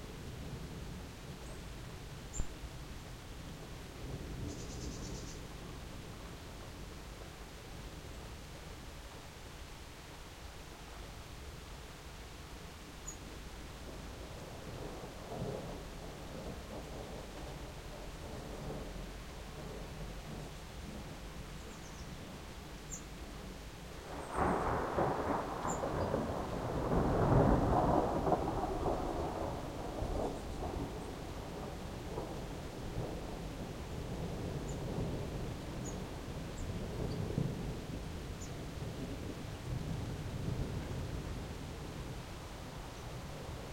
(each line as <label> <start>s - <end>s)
rain 0.0s - 43.7s
thunderclap 24.0s - 42.2s